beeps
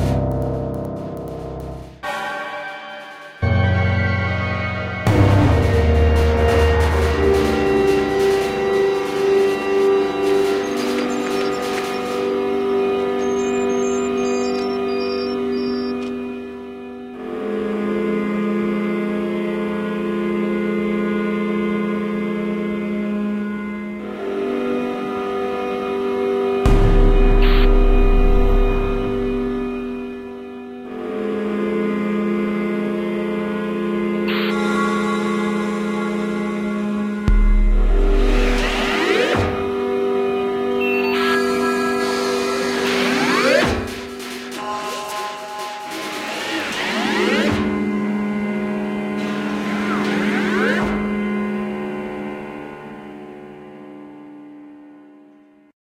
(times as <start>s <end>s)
13.2s 16.0s, 40.8s 43.5s